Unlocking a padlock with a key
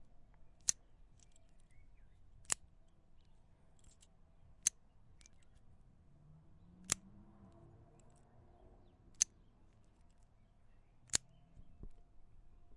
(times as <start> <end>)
0.6 5.8